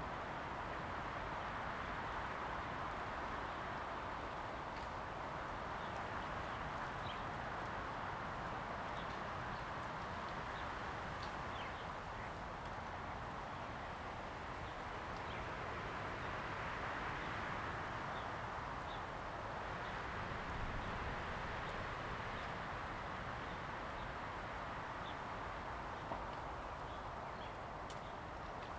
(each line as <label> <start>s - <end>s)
Wind 0.0s - 28.7s